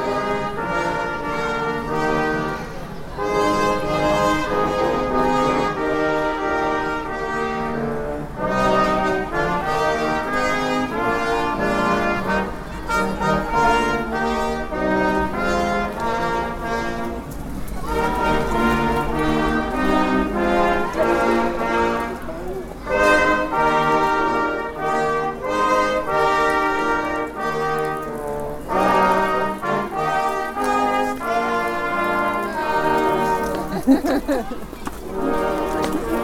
brass music 0:00.0 - 0:36.2
sing St. Martins songs 0:22.8 - 0:34.2

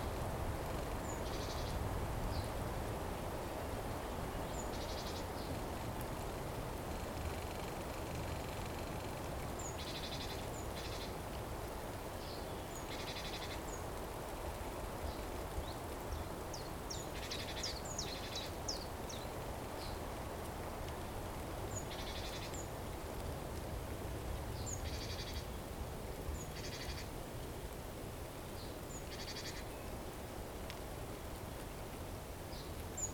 buzzing sound of a busy spring anthill 0:03.3 - 0:23.8
Birds singing 0:15.1 - 0:20.0

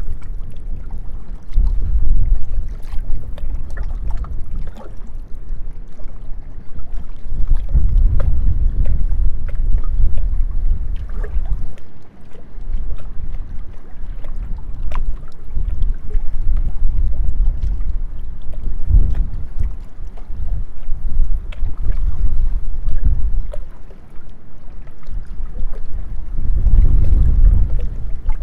Water 0:00.0 - 0:28.4
windy day 0:00.0 - 0:28.4

